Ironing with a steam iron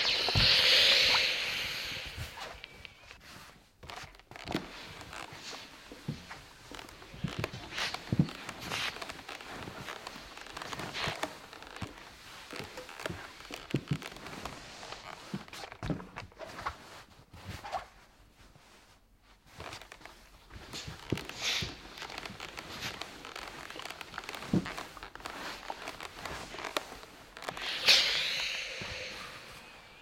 0.0s 3.3s, 20.7s 30.0s

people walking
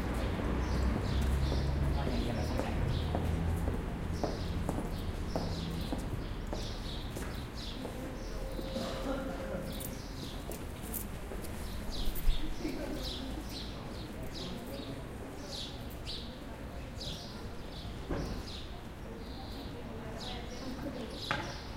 0.0s 16.0s

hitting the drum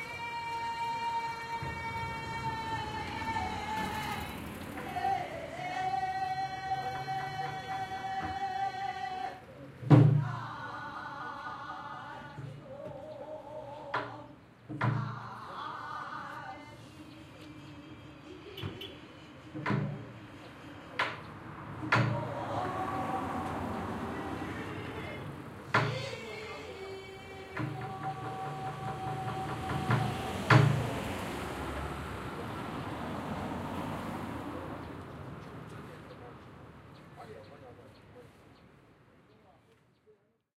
27.6s 31.0s

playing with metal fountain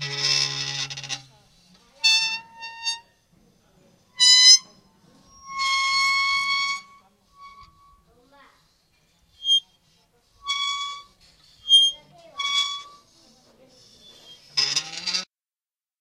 5.3s 8.0s, 10.4s 13.0s

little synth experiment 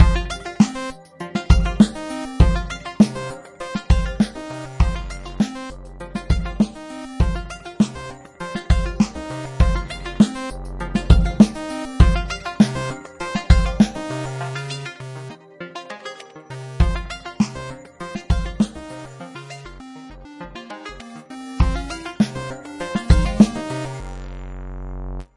16.5s 25.2s

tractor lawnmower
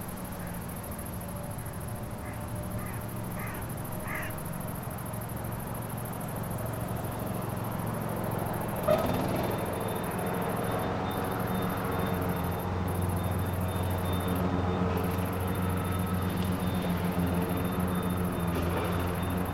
5.6s 19.5s

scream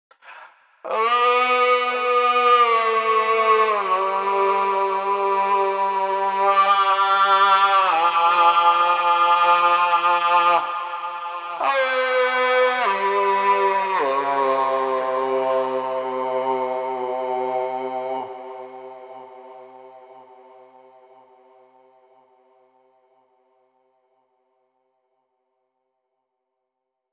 0.2s 21.4s

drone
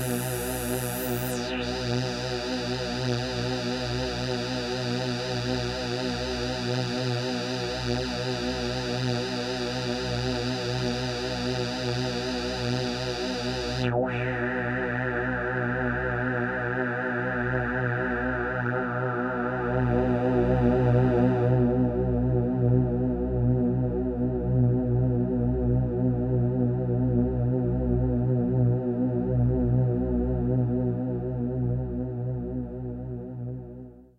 0.0s 23.4s

